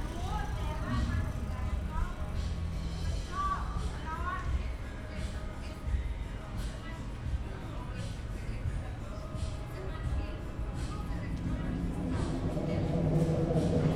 music 0.0 - 13.9
trains passing-by on nearby overpass 0.0 - 13.9
voices 0.0 - 13.9

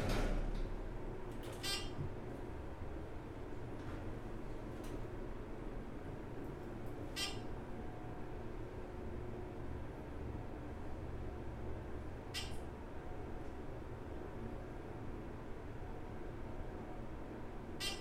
Parking Garage Elevator 0.0 - 2.7
Parking Garage Elevator 6.9 - 7.6
Parking Garage Elevator 17.8 - 18.0

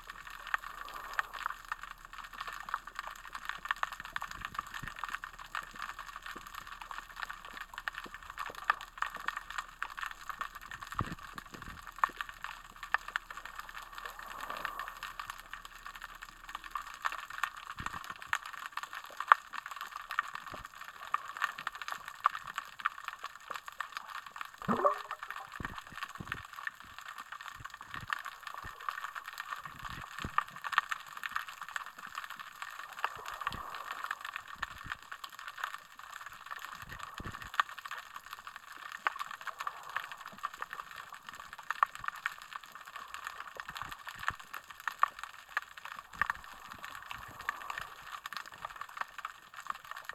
tiny popping, crackling sounds 0.0 - 50.1
splish 24.6 - 26.4

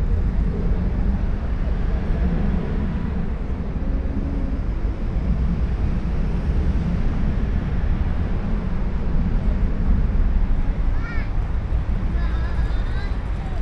low-frequency rumble 0.0 - 13.6
young children exploring the park 10.3 - 13.6
chat of workers 12.1 - 13.6

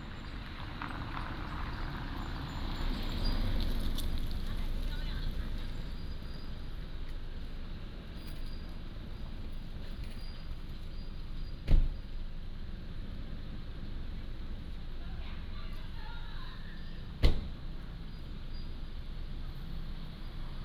Traffic sound 0.0 - 20.6

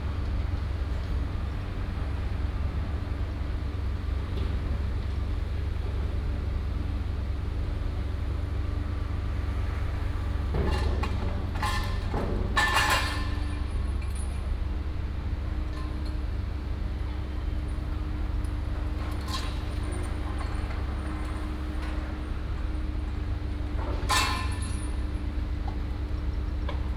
Construction sound 9.1 - 14.4

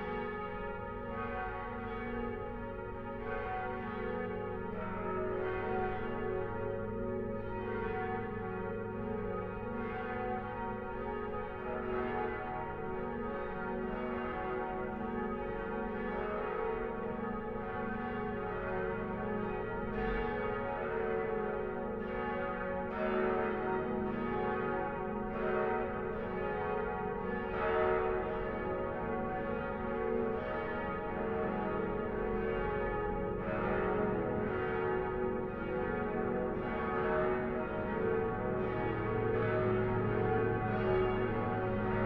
bells of the nearby church 0.0 - 42.0

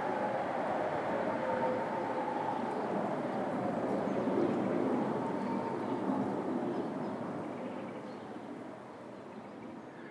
Alarm sirens 0.0 - 6.1

